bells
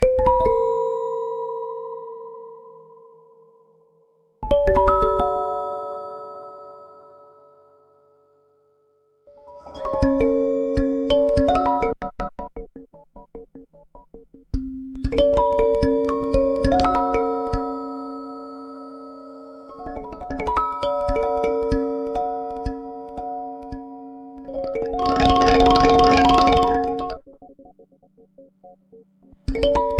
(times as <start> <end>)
15.2 27.2